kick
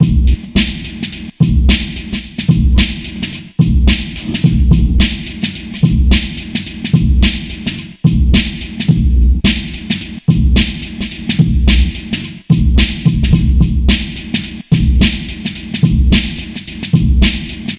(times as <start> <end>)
4.1 5.2